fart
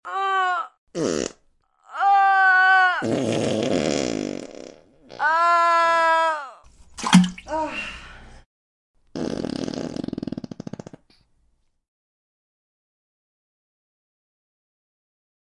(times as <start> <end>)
1.0 1.4, 3.0 5.2, 9.1 11.2